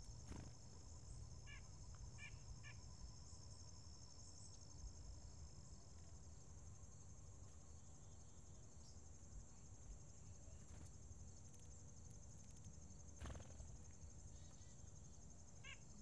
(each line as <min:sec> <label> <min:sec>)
0:00.0 birds are friendly 0:02.8
0:10.2 birds are friendly 0:16.0